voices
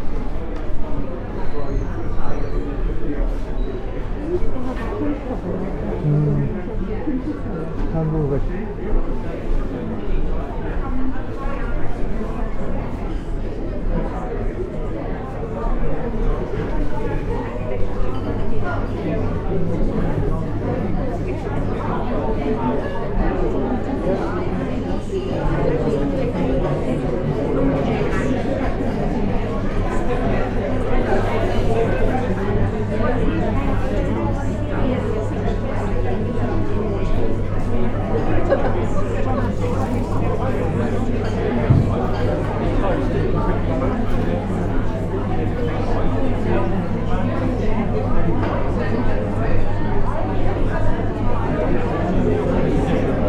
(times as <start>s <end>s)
3.8s 8.8s